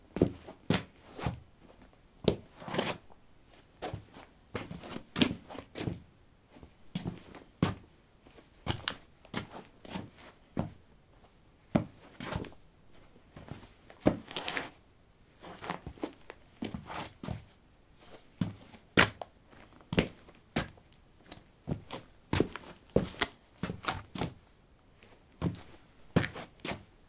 Shuffling on concrete 0:00.2 - 0:14.8
Shuffling on concrete 0:15.4 - 0:24.4
Shuffling on concrete 0:25.0 - 0:26.9

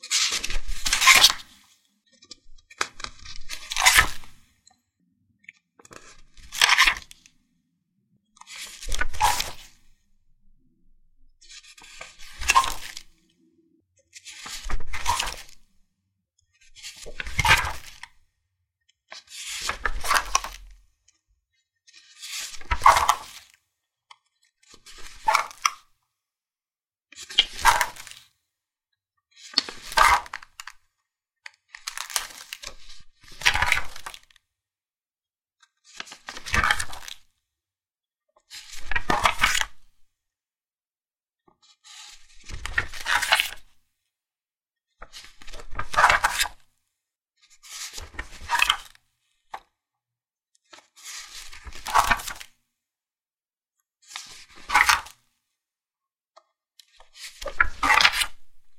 Flipping a book 0:00.1 - 0:01.5
Flipping a book 0:02.5 - 0:04.4
Flipping a book 0:08.4 - 0:09.8
Flipping a book 0:11.4 - 0:13.1
Flipping a book 0:14.2 - 0:15.6
Flipping a book 0:27.2 - 0:28.2
Flipping a book 0:31.7 - 0:34.4
Flipping a book 0:38.5 - 0:40.0
Flipping a book 0:41.6 - 0:43.8
Flipping a book 0:45.1 - 0:46.6
Flipping a book 0:47.5 - 0:49.0
Flipping a book 0:50.7 - 0:52.6
Flipping a book 0:54.0 - 0:55.2
Flipping a book 0:56.8 - 0:58.5

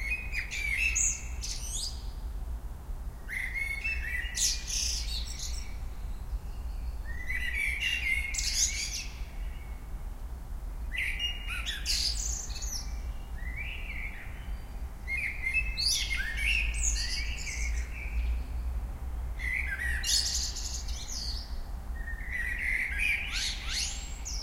Blackbird singing 0:00.0 - 0:02.2
Blackbird singing 0:03.3 - 0:09.8
Blackbird singing 0:10.9 - 0:18.6
Blackbird singing 0:19.4 - 0:24.4

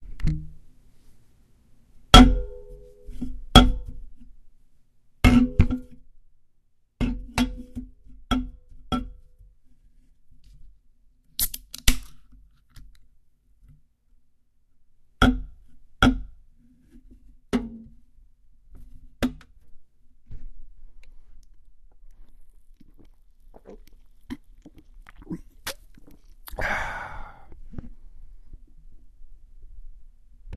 long gulp of beer 0:23.6 - 0:27.5
ahh 0:26.5 - 0:27.6

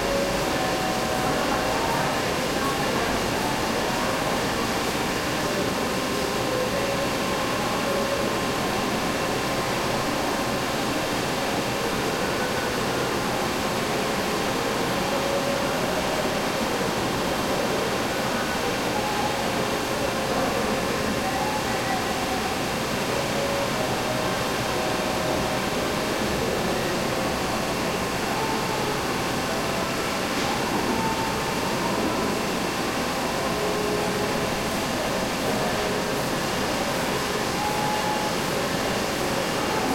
machinery 0:00.0 - 0:39.9

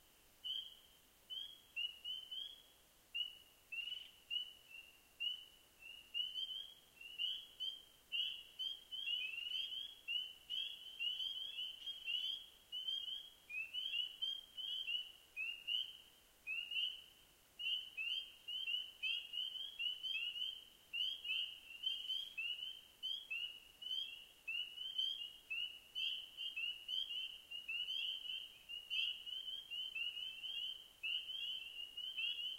spring peepers 0:00.4 - 0:32.5

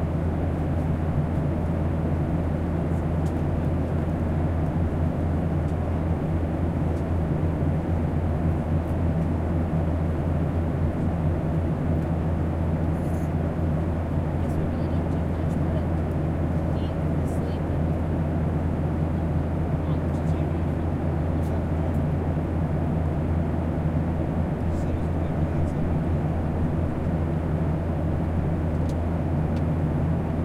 Airplane 0:00.0 - 0:30.4
chatter and noises from the rest of the travelers 0:14.1 - 0:22.3

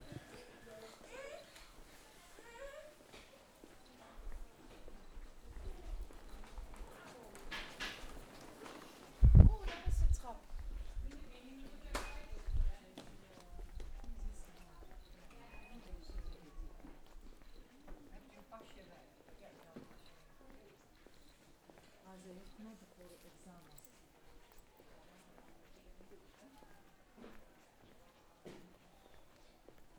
walking around the library 0:00.0 - 0:29.9

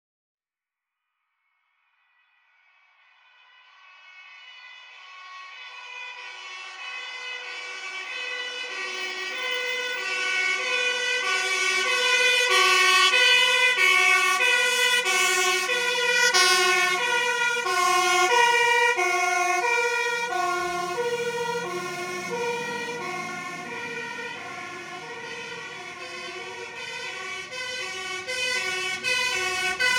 Firetrucks With Sirens Passing By 0:03.1 - 0:29.9
passing trucks and cars 0:04.3 - 0:29.9

